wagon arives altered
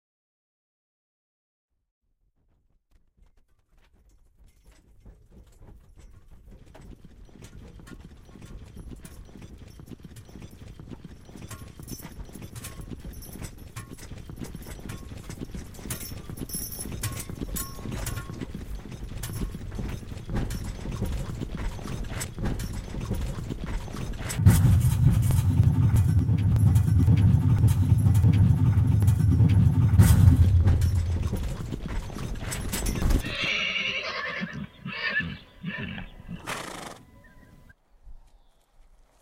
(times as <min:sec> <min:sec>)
0:08.4 0:37.5